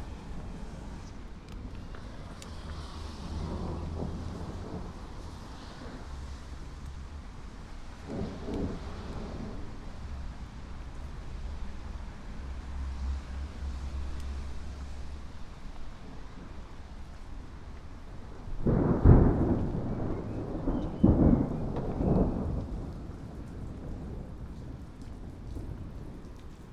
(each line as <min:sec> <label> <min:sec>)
0:03.1 Lightning strikes again 0:05.2
0:08.0 Lightning strikes again 0:09.8
0:18.6 Lightning strikes again 0:24.5